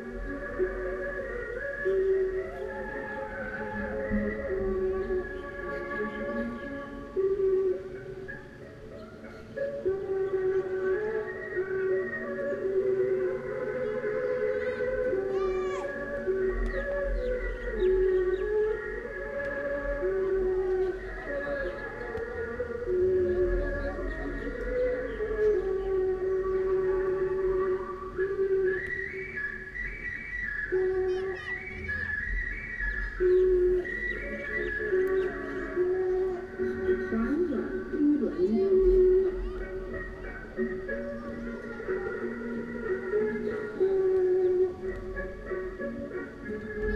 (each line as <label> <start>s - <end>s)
noise/music coming from the local park 0.0s - 46.9s